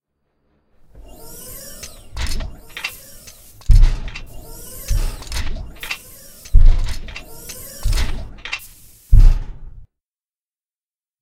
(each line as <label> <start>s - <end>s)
hydraulic leg-lifting noise 0.8s - 9.8s
humming engine noise 0.9s - 9.1s
clanks and pops 1.8s - 9.6s